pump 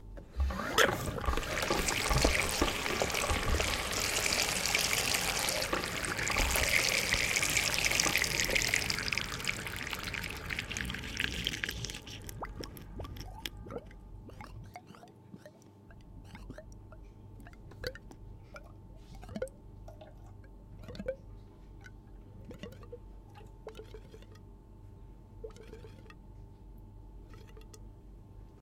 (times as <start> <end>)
0.3 15.0